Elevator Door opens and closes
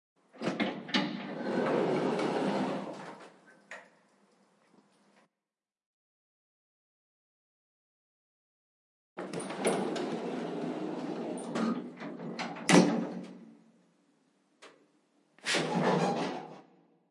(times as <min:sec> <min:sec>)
0:00.4 0:03.3, 0:09.2 0:13.5, 0:15.4 0:16.7